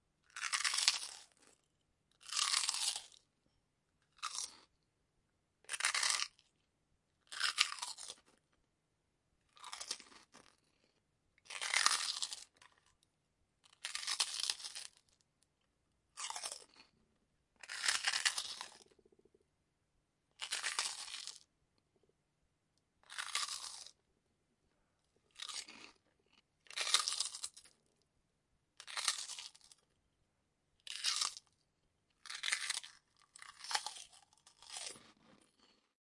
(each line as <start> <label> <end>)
0.3 biting into crunchy and crispy prawn crackers 1.6
2.2 biting into crunchy and crispy prawn crackers 3.3
4.1 biting into crunchy and crispy prawn crackers 4.7
5.7 biting into crunchy and crispy prawn crackers 6.5
7.3 biting into crunchy and crispy prawn crackers 8.4
9.5 biting into crunchy and crispy prawn crackers 10.7
11.5 biting into crunchy and crispy prawn crackers 12.9
13.6 biting into crunchy and crispy prawn crackers 15.2
16.1 biting into crunchy and crispy prawn crackers 17.0
17.6 biting into crunchy and crispy prawn crackers 18.9
20.4 biting into crunchy and crispy prawn crackers 21.5
23.0 biting into crunchy and crispy prawn crackers 24.0
25.3 biting into crunchy and crispy prawn crackers 27.8
28.8 biting into crunchy and crispy prawn crackers 29.8
30.8 biting into crunchy and crispy prawn crackers 31.6
32.2 biting into crunchy and crispy prawn crackers 35.8